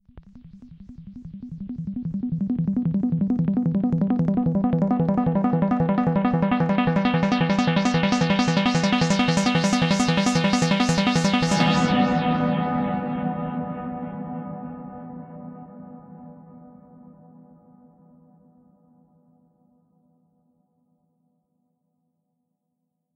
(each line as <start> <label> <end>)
0.3 Arp sequence 11.8